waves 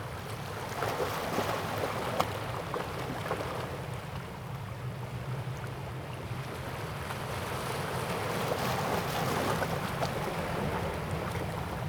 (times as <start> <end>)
5.4 11.8